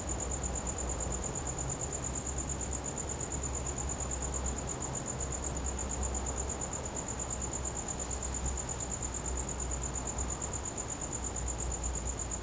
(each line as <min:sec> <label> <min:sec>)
0:00.0 crickets 0:12.4